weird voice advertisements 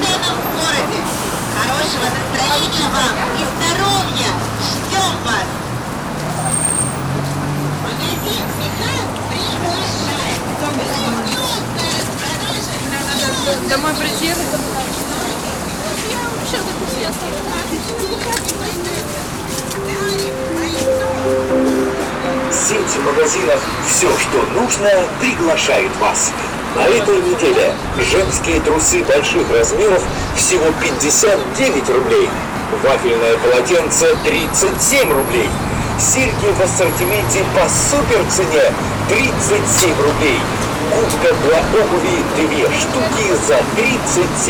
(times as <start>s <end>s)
20.4s 24.7s